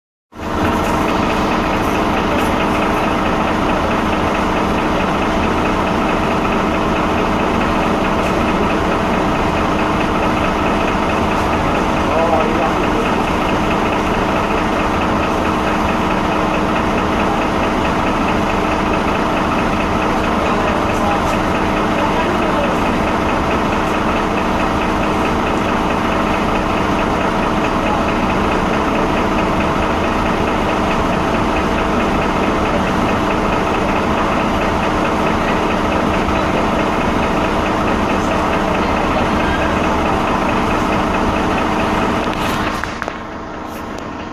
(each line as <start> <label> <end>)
0.3 Bus noise 44.3